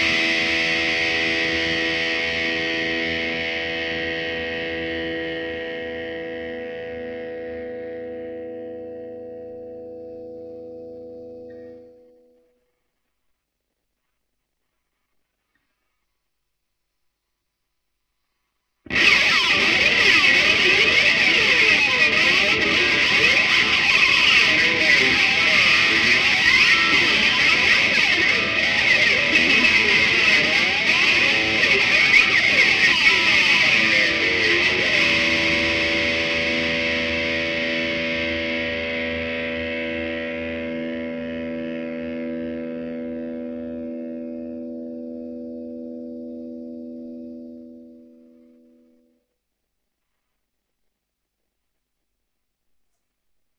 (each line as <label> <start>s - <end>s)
slides on an distorted electric guitar 0.0s - 12.4s
slides on an distorted electric guitar 18.9s - 49.1s